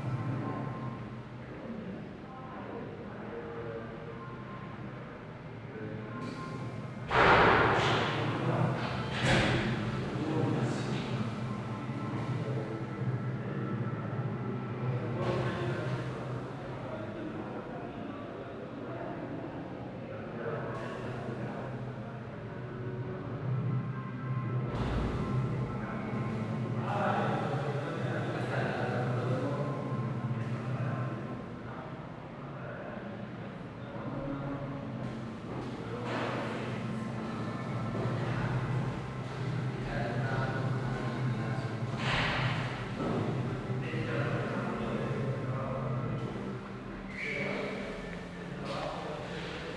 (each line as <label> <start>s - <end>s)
voices 5.7s - 19.4s
voices 24.0s - 49.7s
steps reverbing in the architecture 34.8s - 49.7s